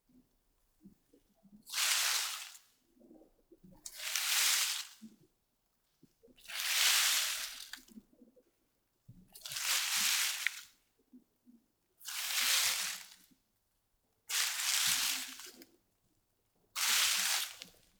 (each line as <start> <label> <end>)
9.6 Brushing leaves with hand 10.6
14.3 Brushing leaves with hand 15.6
16.8 Brushing leaves with hand 17.7